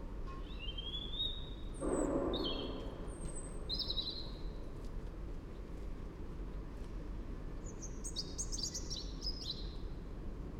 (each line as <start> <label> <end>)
0.0 A Robin in a tree 4.8
7.4 A Robin in a tree 10.2